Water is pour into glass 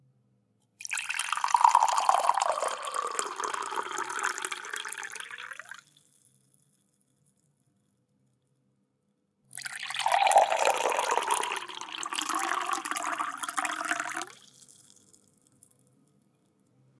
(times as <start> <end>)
0.8 5.8, 9.6 15.1